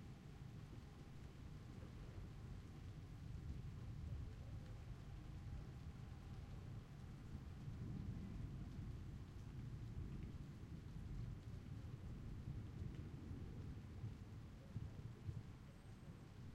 0.0s rain 16.5s

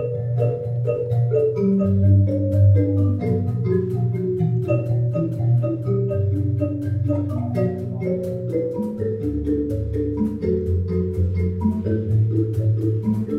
0.0s three amplified Mbira 13.3s

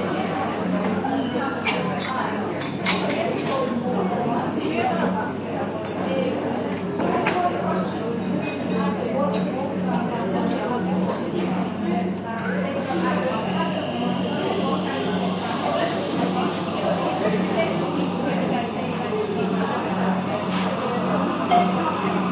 0.0s Female voices in the back ground 22.3s
12.5s coffee machine 22.3s

